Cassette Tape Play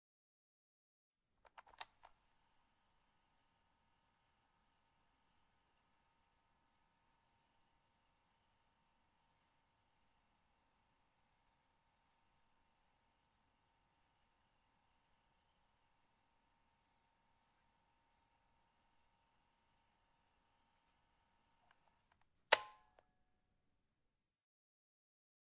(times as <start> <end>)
1.4 2.2